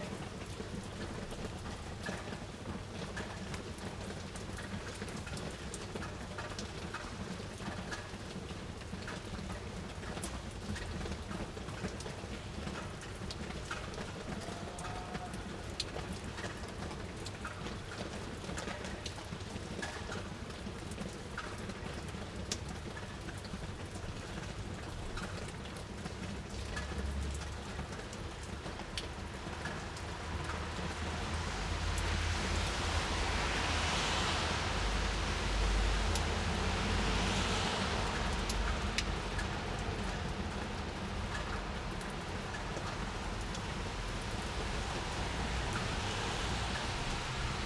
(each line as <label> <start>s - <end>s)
rain and drops on the balcony 0.0s - 47.6s